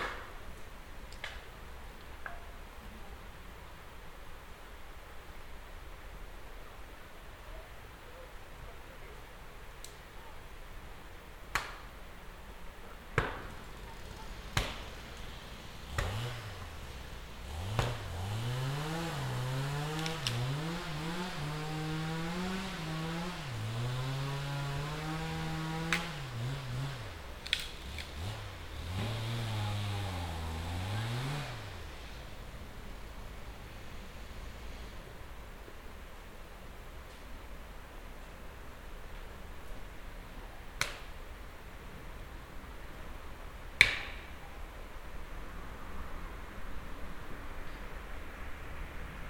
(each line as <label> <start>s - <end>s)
cutting wood 13.2s - 32.3s
cutting wood 43.8s - 44.2s